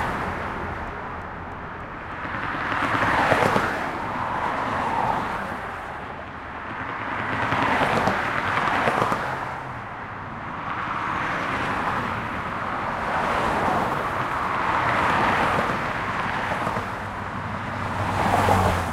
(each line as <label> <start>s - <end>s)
highway 0.0s - 18.9s
trucks 0.0s - 18.9s